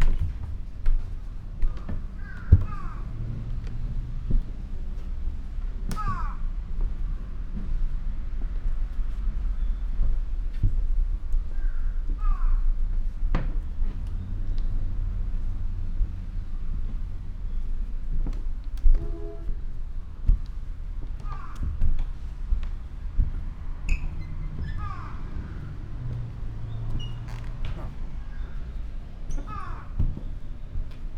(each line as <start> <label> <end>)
0.0 walking the wooden floor 31.1